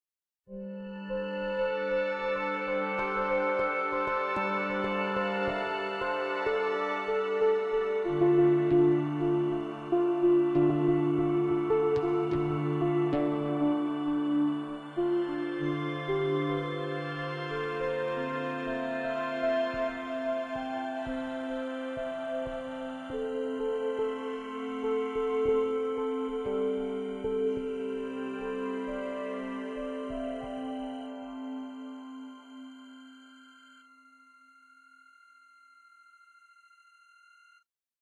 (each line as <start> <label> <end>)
0.5 synth 37.2